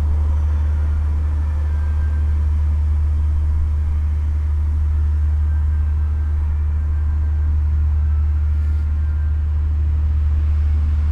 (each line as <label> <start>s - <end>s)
heavy drone of a passenger ship 0.0s - 11.1s
traffic sounds 0.0s - 11.1s